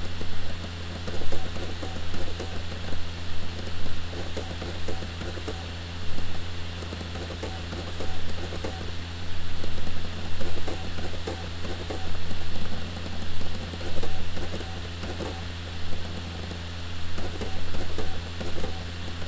SuperDrive reading a DVD 0.0 - 19.2

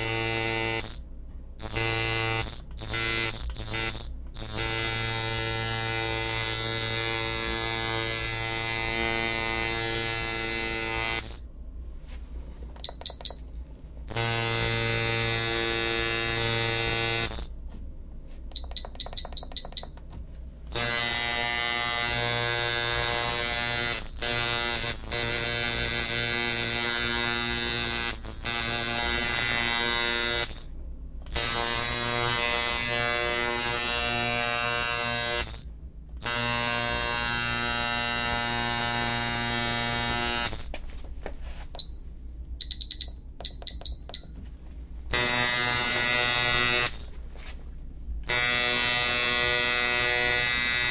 tattoo machines at different settings and voltages 0.0 - 11.4
tattoo machines at different settings and voltages 14.0 - 17.6
tattoo machines at different settings and voltages 20.7 - 30.7
tattoo machines at different settings and voltages 31.3 - 40.8
tattoo machines at different settings and voltages 45.1 - 47.2
tattoo machines at different settings and voltages 48.2 - 50.9

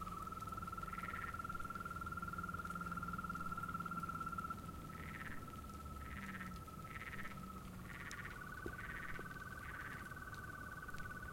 crickets 0.0 - 11.3
frogs 0.0 - 11.3

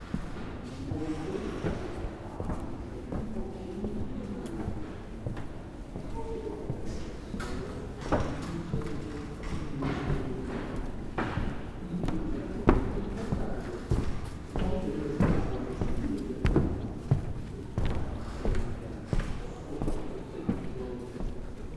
steps on the stairs 0.0 - 21.7

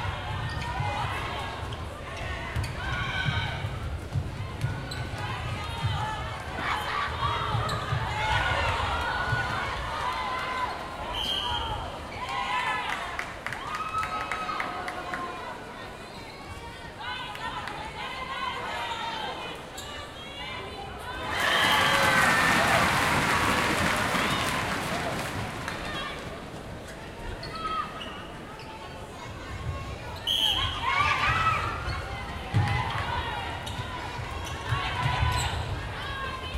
international netball game 0.0 - 36.5
cheering 5.2 - 15.8
clapping 12.9 - 15.3
cheering 20.5 - 26.5
clapping 21.6 - 26.2
cheering 30.3 - 36.5

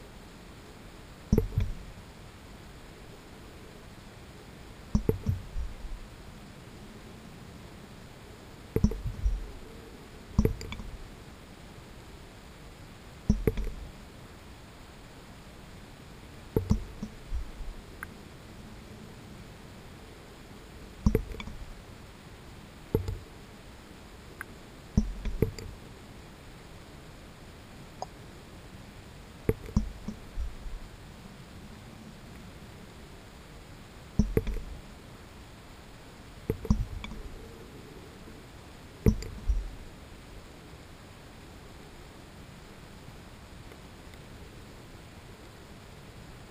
background noise 0.0 - 46.5
Droplets falling on a water surface 1.3 - 2.0
Droplets falling on a water surface 25.0 - 25.7
Droplets falling on a water surface 34.2 - 34.8

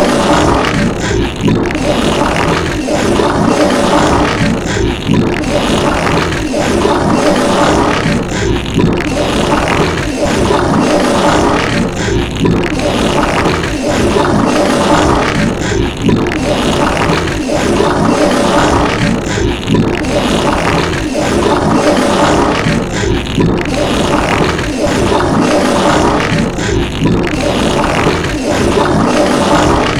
burp 0.0 - 29.9
fart 0.0 - 29.9
gurgle 0.0 - 29.9
vomit 0.0 - 29.9

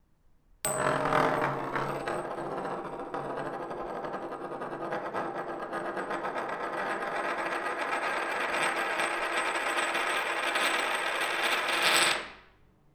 large metal coin spinning on the wooden table 0.7 - 12.4

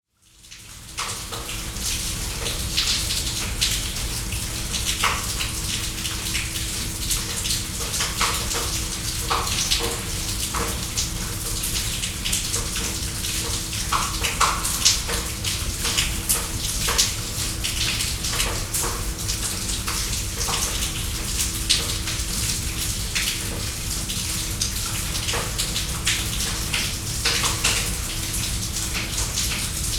flowing rain gutter 0.3 - 29.9

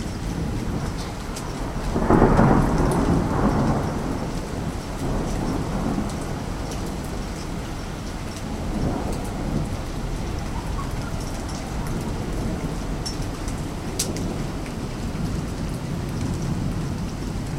flood 0.0 - 17.5
storm lightning 0.0 - 17.5

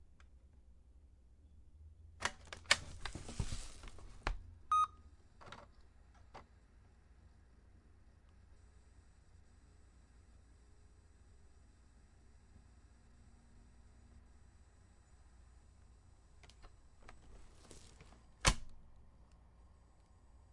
Opening laptop 2.2 - 6.5
Opening laptop 16.4 - 18.8

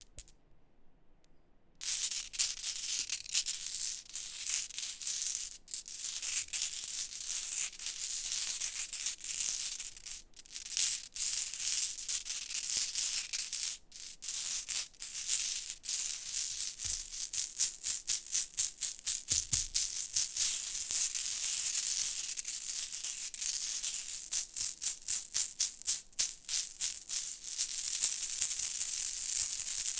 Handling marbles 0.0 - 0.3

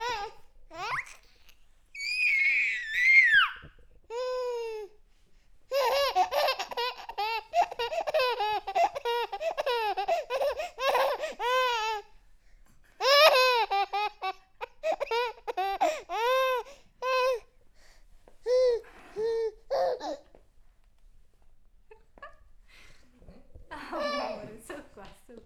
Baby daughter laughing 5.7 - 12.0
Baby daughter laughing 13.0 - 17.4

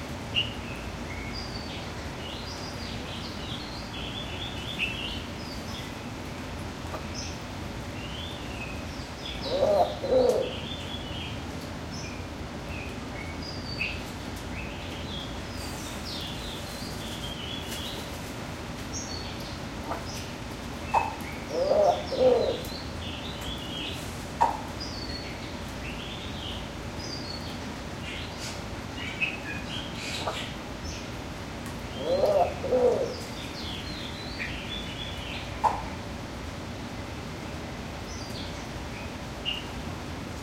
Bali Starling 9.2 - 10.8
unknown bird 9.3 - 10.9
Wompoo Fruit-dove 9.3 - 10.8
movement from birds 13.9 - 24.8
Wompoo Fruit-dove 20.9 - 22.9
unknown bird 20.9 - 22.9
Bali Starling 20.9 - 24.7
Wompoo Fruit-dove 31.8 - 33.8
Bali Starling 31.9 - 36.0
unknown bird 31.9 - 33.8

